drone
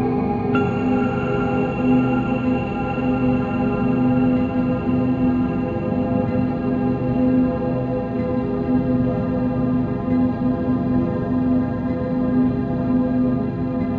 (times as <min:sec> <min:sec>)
0:00.0 0:10.9